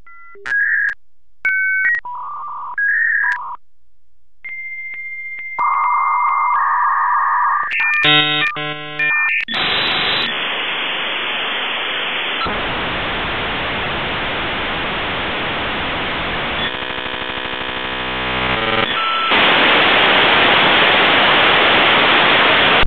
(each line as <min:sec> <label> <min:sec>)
0:00.1 Dial up tones 0:03.6
0:04.5 Dial up tones 0:10.5
0:16.1 Dial up tones 0:20.0